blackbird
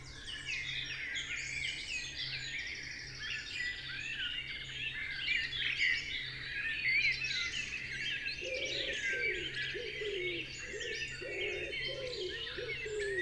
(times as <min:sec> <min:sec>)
0:08.4 0:13.2